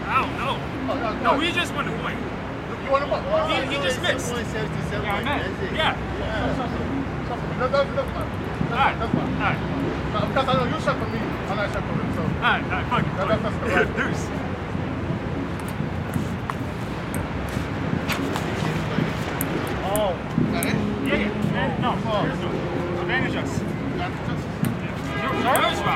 ping pong match 15.4 - 21.6
ping pong match 22.2 - 25.9

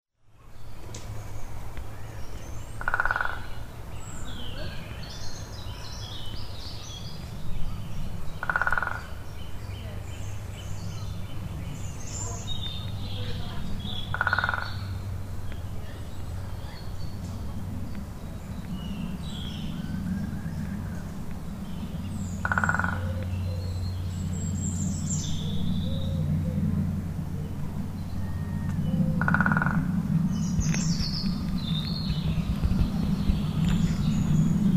Woodpecker 2.8 - 3.6
Woodpecker 8.4 - 9.3
Woodpecker 12.0 - 15.6
Woodpecker 22.4 - 23.7
Woodpecker 28.7 - 34.4

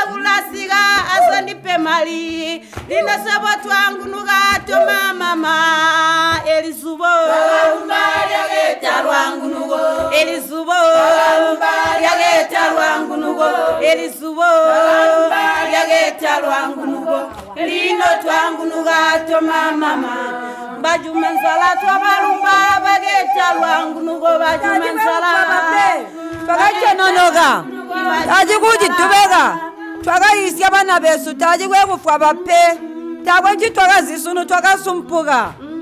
Zubo song 0.0 - 29.9

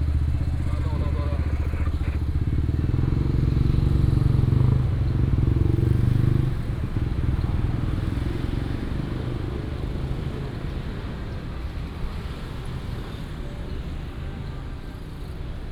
Traffic sound 0.0 - 15.6

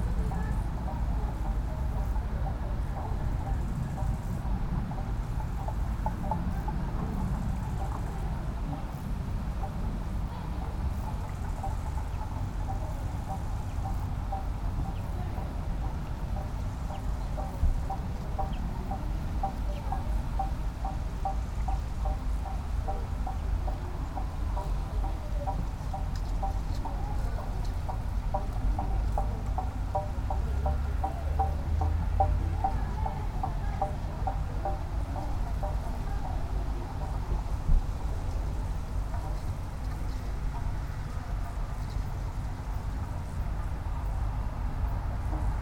cars 0.0 - 45.6
wind rattle 0.0 - 45.6
crickets 0.1 - 45.6
human voices 14.3 - 39.5

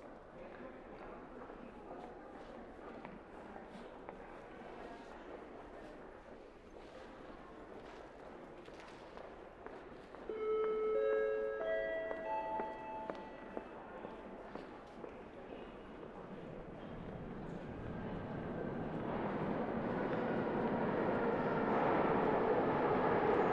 Trains Traffic 10.3 - 14.6
Trains Traffic 16.2 - 23.5

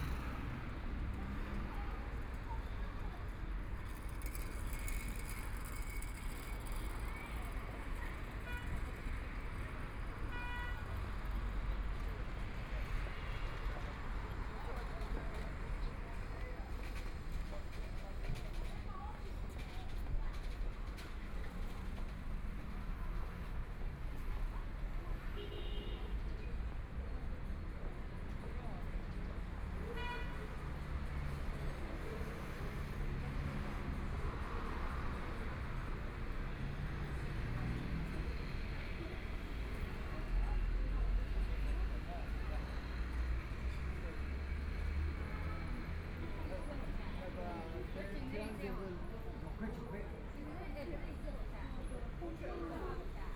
Traffic Sound 0.0 - 25.4
Walking on the street 0.0 - 53.3
Traffic Sound 26.0 - 53.3

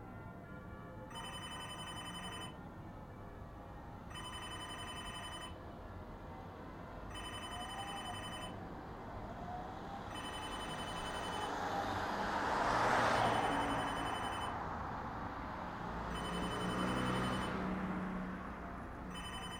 traffic on the road 0.0 - 19.5
telephone booth bell 1.1 - 2.6
telephone booth bell 4.1 - 5.6
telephone booth bell 7.1 - 8.5
telephone booth bell 10.1 - 11.5
telephone booth bell 13.3 - 14.5
telephone booth bell 16.2 - 17.5
telephone booth bell 19.1 - 19.5

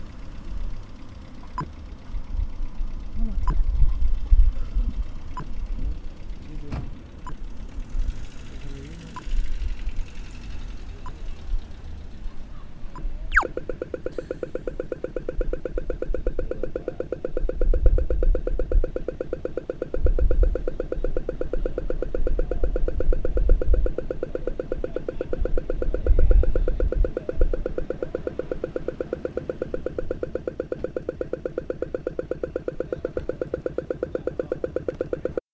TRAFFIC LIGHT INTENDED TO HELP BLIND PEOPLE 0.0 - 35.4

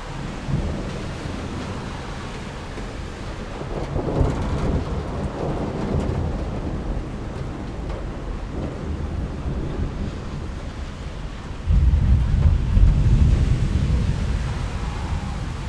rain on the balcony 0.0 - 15.6
traffic on wet asphalt 0.0 - 15.6
thunder 0.1 - 15.6

